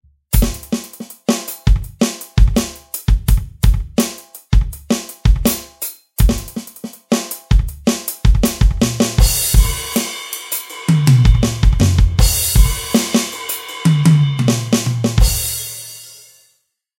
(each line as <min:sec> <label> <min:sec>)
0:00.2 drum groove 0:16.3